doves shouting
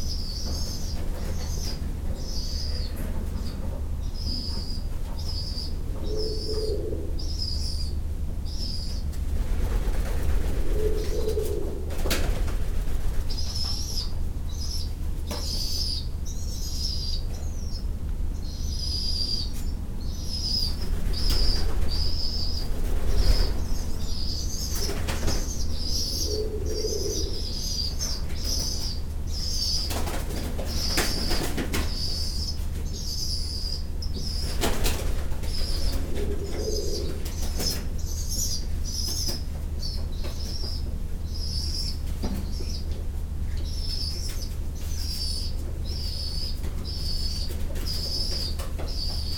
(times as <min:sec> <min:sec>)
0:04.2 0:08.0, 0:20.2 0:42.9